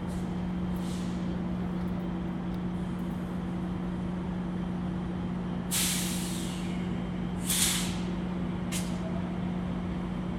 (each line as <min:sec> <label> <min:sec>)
0:00.0 train 0:10.3